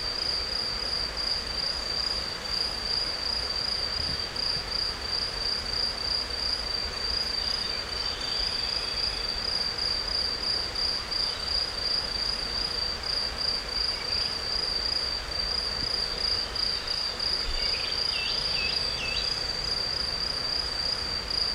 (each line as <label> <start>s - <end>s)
crickets 0.0s - 21.5s
insects 0.0s - 21.5s
river 0.0s - 21.5s
Bird's songs 17.5s - 19.4s